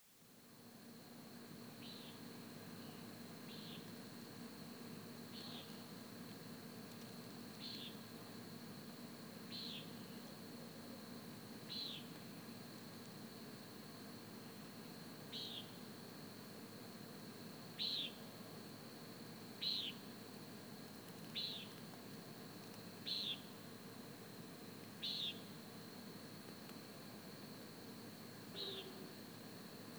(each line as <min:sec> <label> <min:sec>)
0:28.5 call of the Common Nighthawk 0:29.1